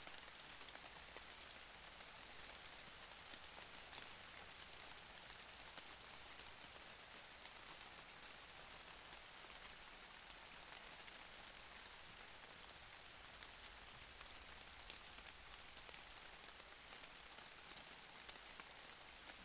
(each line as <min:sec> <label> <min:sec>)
0:00.1 raining 0:19.4